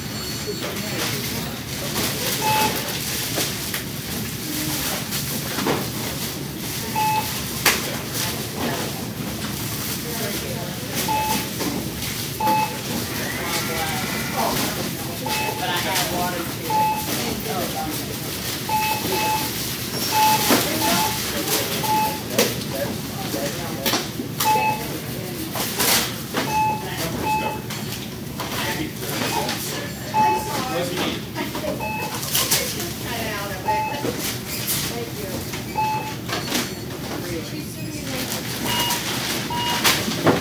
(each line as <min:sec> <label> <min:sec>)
0:00.0 Bustling grocery store checkout 0:40.4